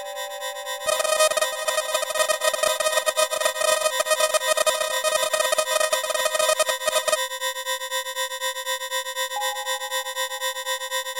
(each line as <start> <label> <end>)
0.8 old-fashioned sysntheseizer 7.2